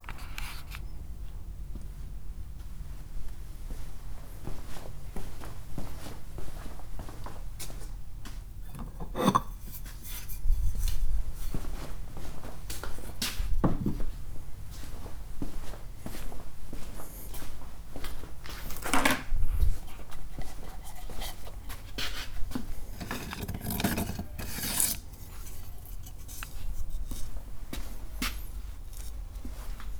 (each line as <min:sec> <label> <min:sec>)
0:08.7 tools 0:10.8
0:22.9 tools 0:26.6